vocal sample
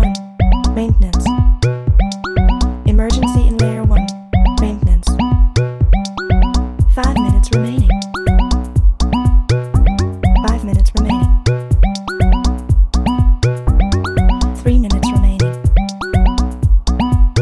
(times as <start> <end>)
2.9 5.4, 6.9 8.6, 9.9 11.6, 14.1 16.3